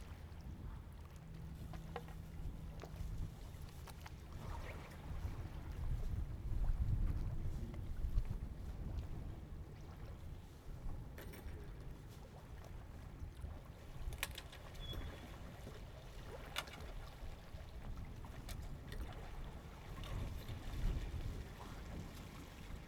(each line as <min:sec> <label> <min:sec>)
0:00.0 Tide 0:22.8